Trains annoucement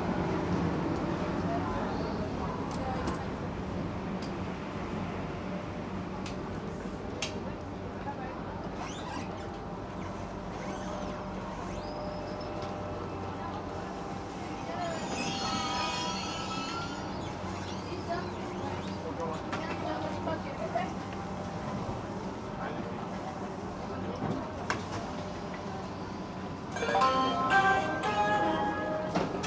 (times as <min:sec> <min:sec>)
0:11.2 0:29.4